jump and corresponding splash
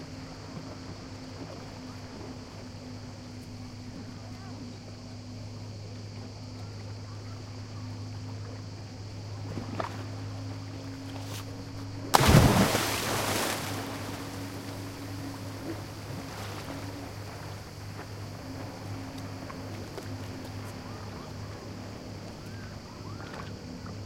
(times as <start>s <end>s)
12.1s 15.7s